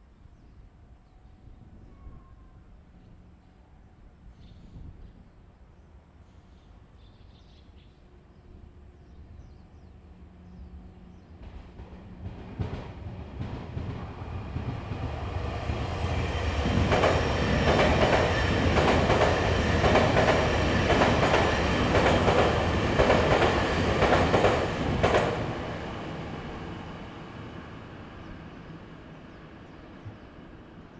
10.0s Train traveling through 30.9s

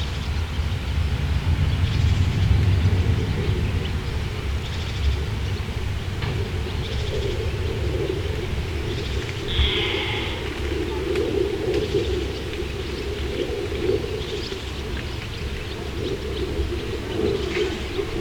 0.0s plane 18.2s
0.0s birds 18.2s

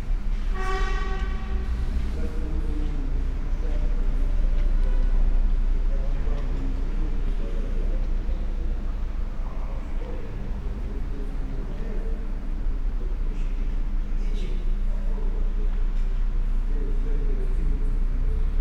1.2s people passing-by 15.8s

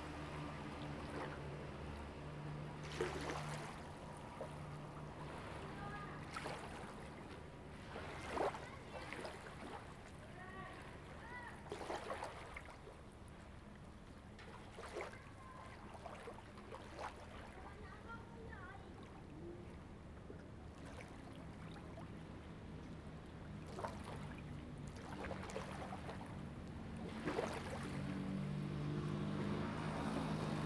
0.0s Waves and tides 30.6s

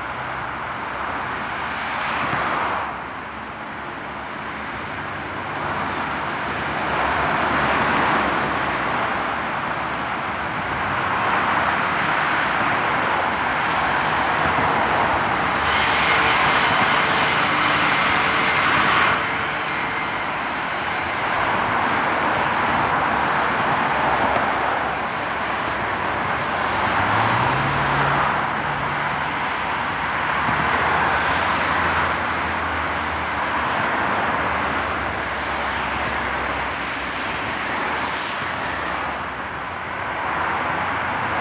0.0s heavy traffic on the freeway in both directions 41.4s

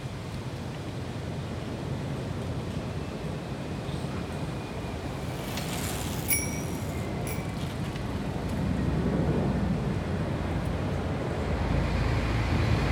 0.1s Street traffic 12.9s

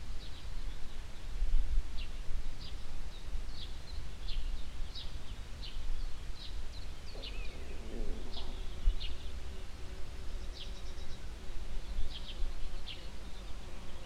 0.0s mellow morning wind coming uphill from the fields 14.0s
0.2s humble bees in a nearby tree passing by 14.0s
7.1s bird communication 9.3s

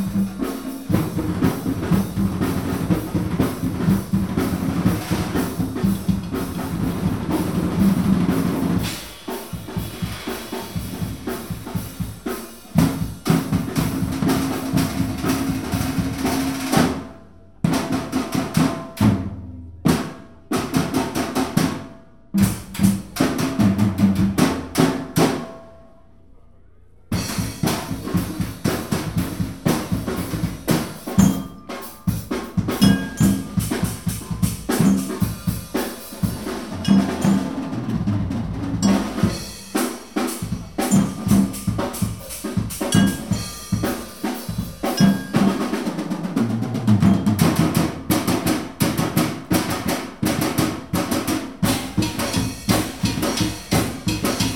0.0s various percussion instrument 17.1s
27.1s various percussion instrument 54.5s
31.1s marimbas 38.0s
38.8s marimbas 45.8s

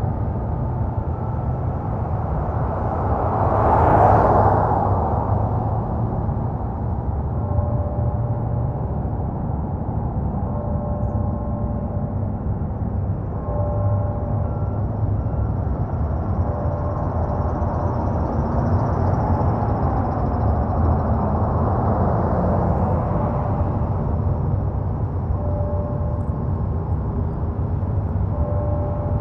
0.0s automobile traffic 29.2s
6.8s Bells 29.2s

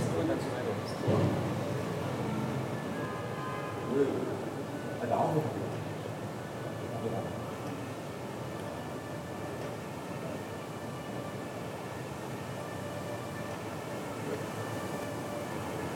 1.5s sirens 15.9s

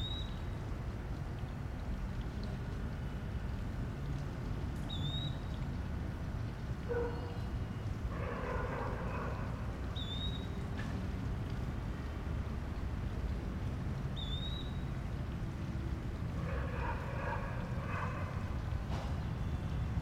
0.0s water fountain 20.0s
6.9s dogs barking 7.5s
6.9s birds 10.8s
8.1s dogs barking 9.9s
16.3s dogs barking 18.7s

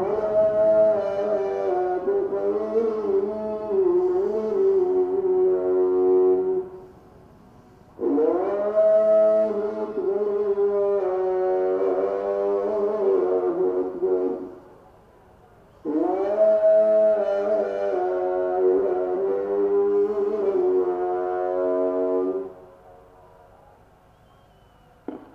0.0s Ruf des Muezzin 14.7s
0.0s Atem 25.3s

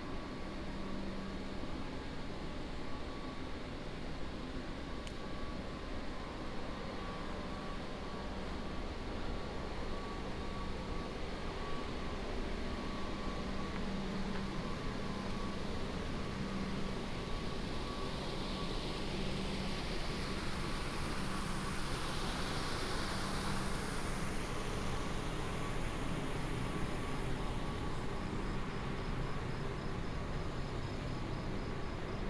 23.2s frogs 32.2s

